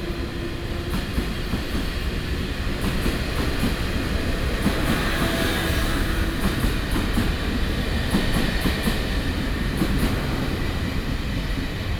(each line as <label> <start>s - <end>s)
Traveling by train 0.0s - 11.9s